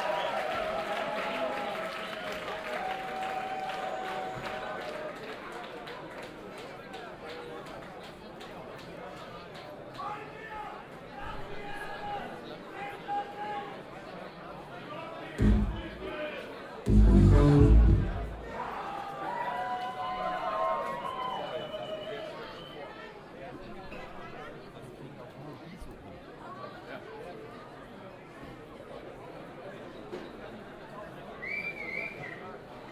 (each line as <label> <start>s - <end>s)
konzertbesucher 15.4s - 16.0s
konzertbeginn 15.4s - 16.2s
konzertbeginn 16.8s - 18.6s
konzertbesucher 16.9s - 18.4s